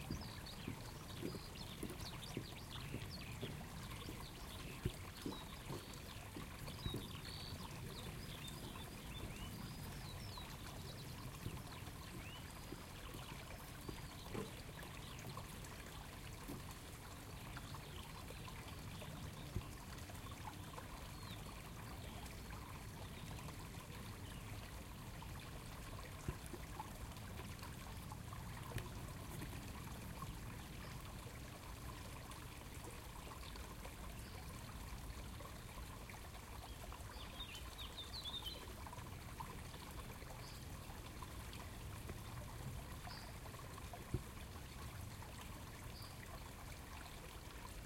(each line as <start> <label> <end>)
0.0 small spring stream 47.8